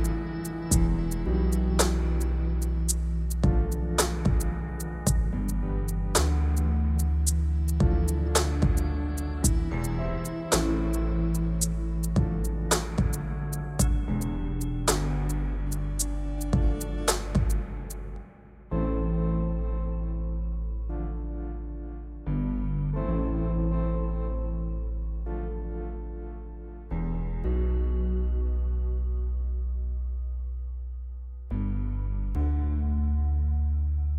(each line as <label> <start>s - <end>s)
synth 0.0s - 29.4s
bass 0.0s - 34.1s
kick 3.4s - 5.5s
kick 7.8s - 9.8s
kick 12.2s - 14.2s
kick 16.5s - 17.9s